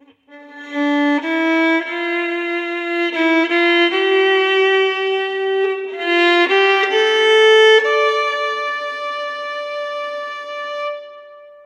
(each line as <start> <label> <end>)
0.0 violin lick 11.6